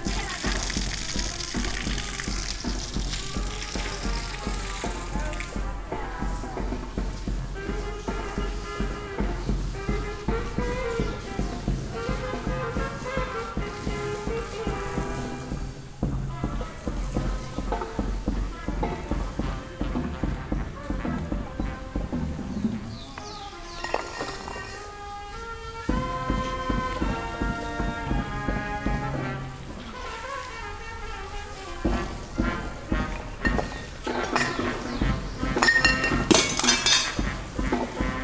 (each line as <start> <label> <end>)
0.0 women are cleaning up the place 38.2